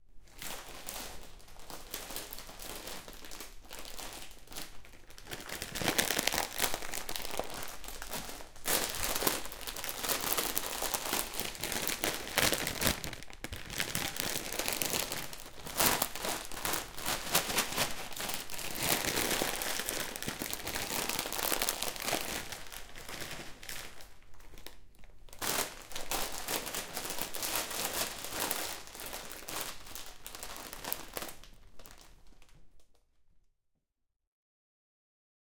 bag of chips rotates around you 0.4 - 24.7

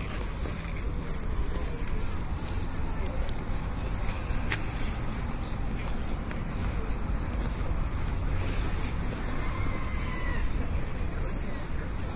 skating 0.0 - 12.1

